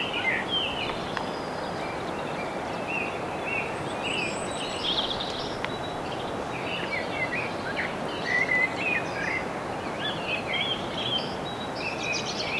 blackbird 0.0 - 12.5
starling singing at dawn 0.0 - 12.5

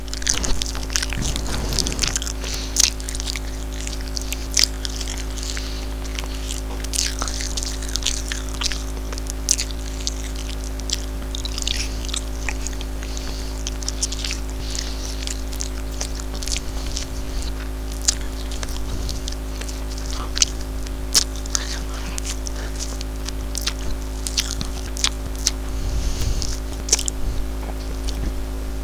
Flesh Eating 0.0 - 28.8

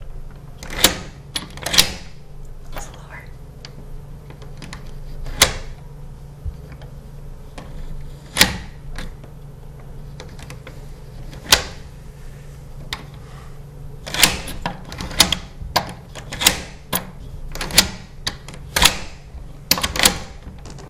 locking and unlocking a door 0.6 - 2.2
locking and unlocking a door 11.3 - 11.8
locking and unlocking a door 14.0 - 20.8

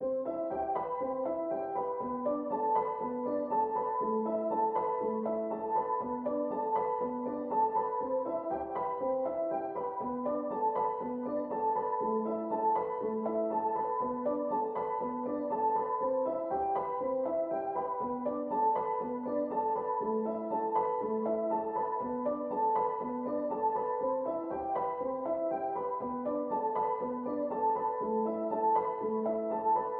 piano 0.0 - 29.9

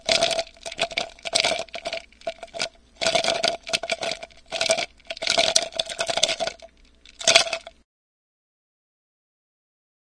Shaken Ice Cubes 0.0 - 7.7

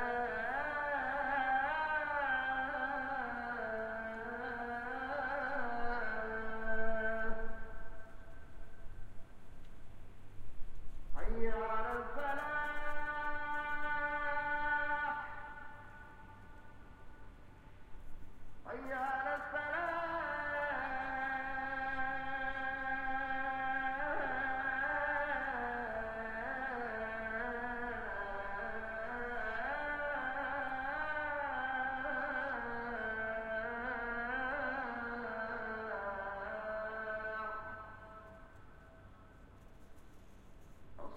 call to prayer 0.0 - 8.9
call to prayer 11.2 - 17.3
call to prayer 18.7 - 39.4

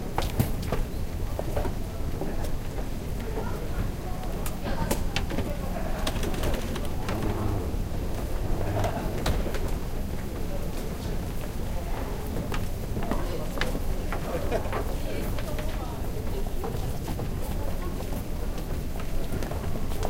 Mechanical stairs 6.6 - 9.0

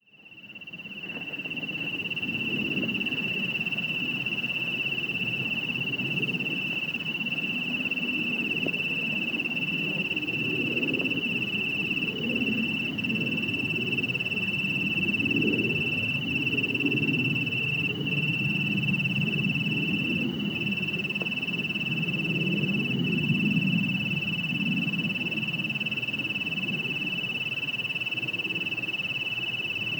Crickets 0.0 - 29.9

